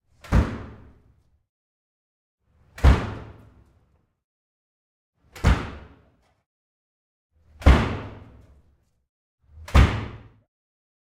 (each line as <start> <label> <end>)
0.0 door wood front apartment ext enclosed courtyard slam 1.5
2.5 door wood front apartment ext enclosed courtyard slam 4.2
5.2 door wood front apartment ext enclosed courtyard slam 6.4
7.4 door wood front apartment ext enclosed courtyard slam 10.5